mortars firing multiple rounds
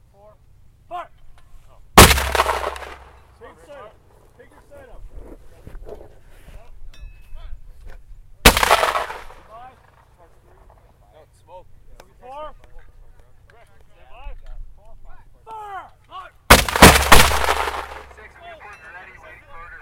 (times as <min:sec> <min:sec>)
0:02.0 0:03.3, 0:08.4 0:10.0, 0:16.5 0:18.3